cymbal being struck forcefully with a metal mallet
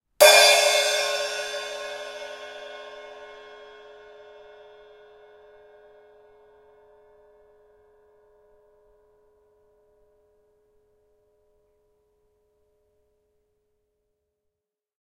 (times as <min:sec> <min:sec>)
0:00.2 0:06.1